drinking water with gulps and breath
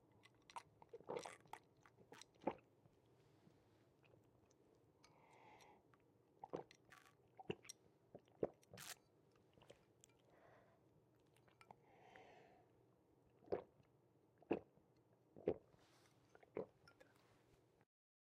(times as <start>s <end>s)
3.9s 8.8s, 13.4s 14.8s, 15.4s 17.4s